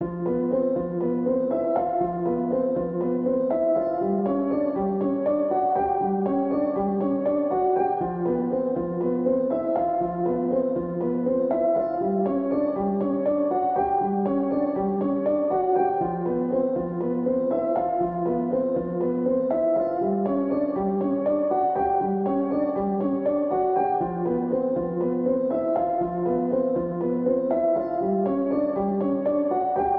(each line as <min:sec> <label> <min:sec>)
0:00.0 piano 0:29.9